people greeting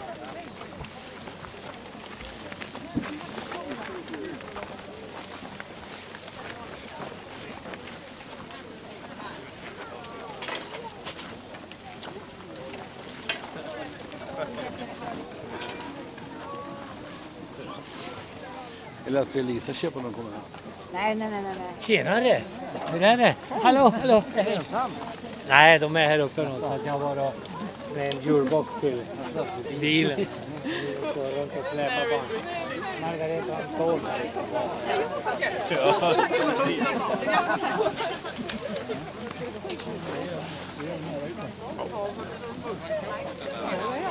13.5s 20.3s

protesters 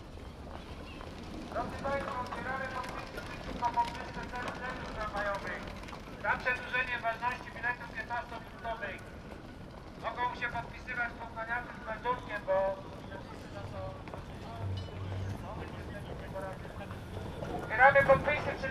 10.0s 18.7s

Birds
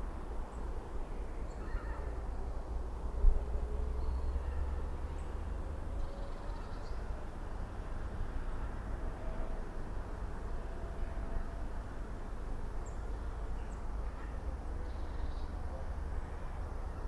0.5s 2.8s, 3.9s 7.2s, 12.8s 17.0s

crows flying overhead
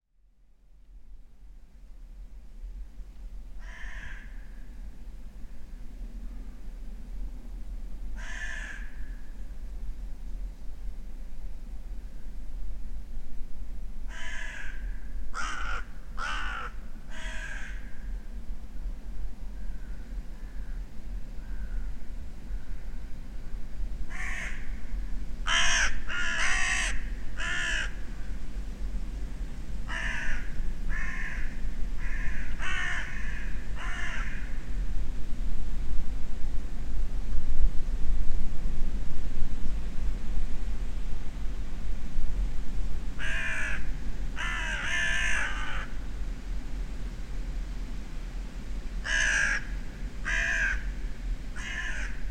3.5s 6.6s, 8.1s 9.5s, 14.0s 18.3s, 19.5s 28.4s, 29.8s 34.8s, 43.1s 46.1s, 48.9s 52.3s

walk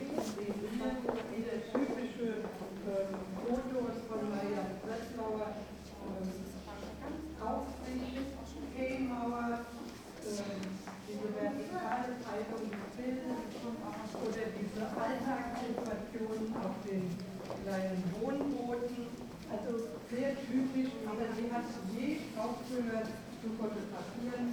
0.0s 5.2s, 9.6s 21.1s

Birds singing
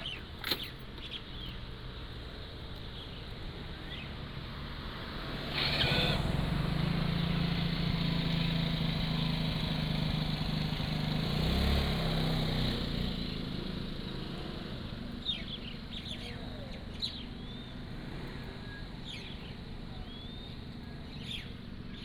0.0s 1.7s, 2.9s 4.2s, 15.2s 17.9s, 19.0s 22.0s

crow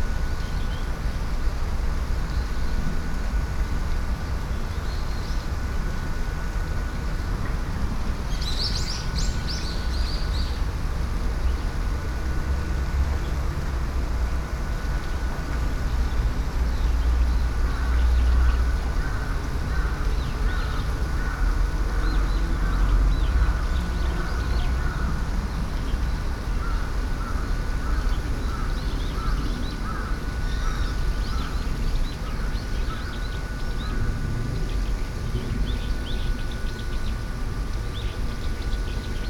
26.6s 31.6s

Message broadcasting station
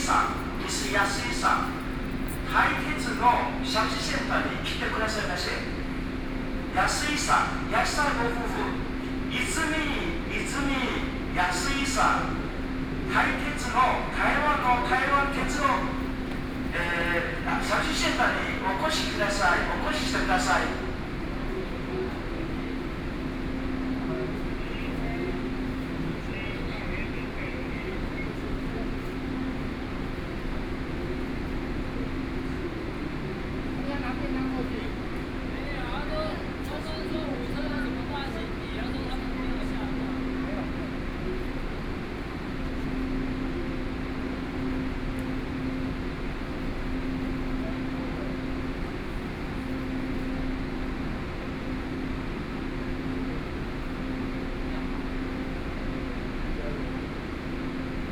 0.0s 21.4s

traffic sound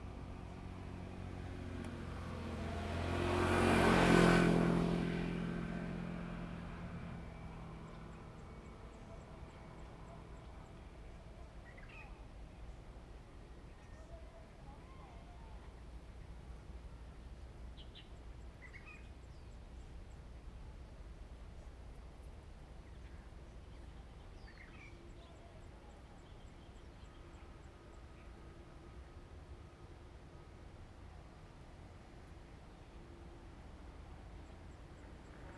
0.0s 11.0s

